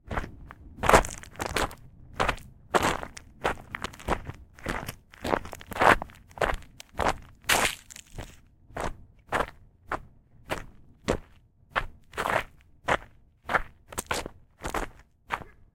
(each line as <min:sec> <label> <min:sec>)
0:00.1 walking on gravel 0:15.6